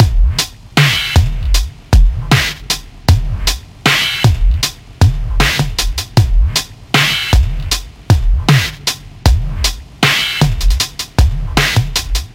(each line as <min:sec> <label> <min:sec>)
0:00.0 beat downtempo beats 0:12.3